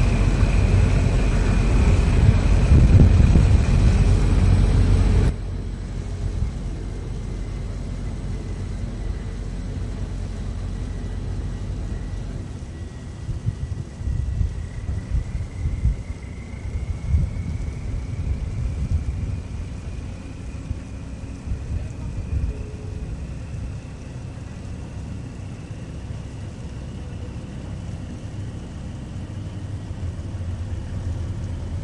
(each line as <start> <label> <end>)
0.0 Ferry 31.8